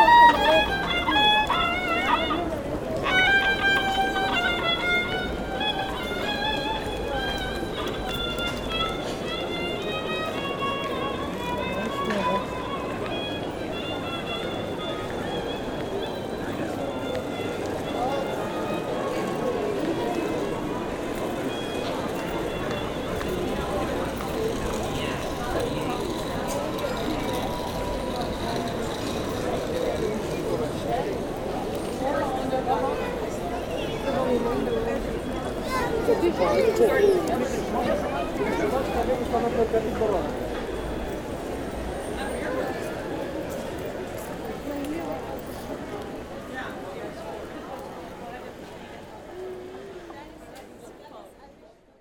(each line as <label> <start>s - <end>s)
badly playing strohviol 0.0s - 34.5s